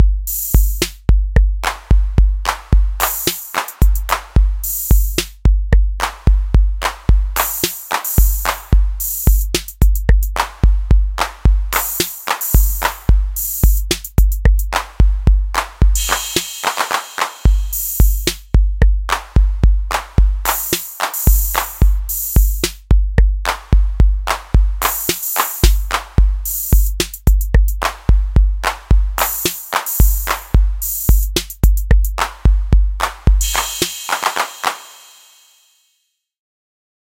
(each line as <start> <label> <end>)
6.0 rythm 22.8
23.5 rythm 35.9